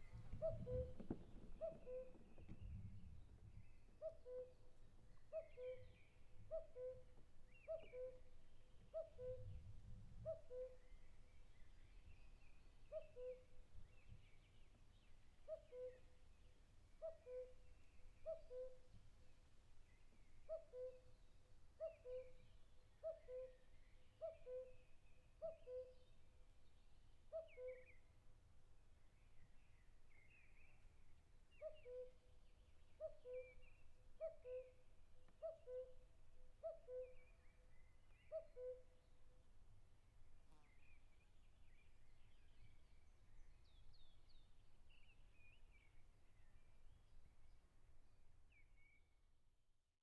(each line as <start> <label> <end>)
0.4 cuckoo bird cuckooing 1.0
1.6 cuckoo bird cuckooing 2.2
5.3 cuckoo bird cuckooing 8.2
8.9 cuckoo bird cuckooing 9.5
18.2 cuckoo bird cuckooing 18.8
20.5 cuckoo bird cuckooing 21.0
21.8 cuckoo bird cuckooing 22.4
24.2 cuckoo bird cuckooing 24.8
36.6 cuckoo bird cuckooing 37.3
38.2 cuckoo bird cuckooing 38.9